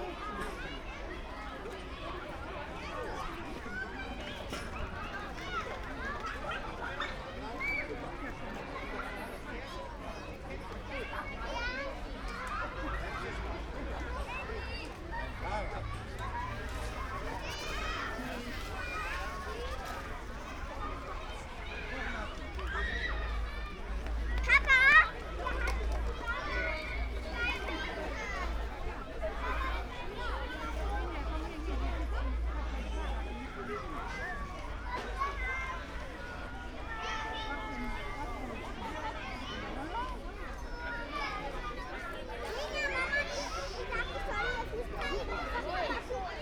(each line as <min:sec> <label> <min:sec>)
0:00.0 kids and parents leaving 0:46.4